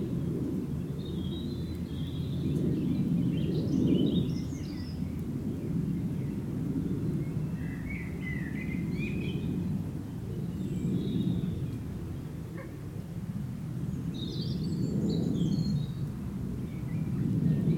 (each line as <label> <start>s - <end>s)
planes pass by 0.0s - 17.7s
dogs 12.5s - 12.9s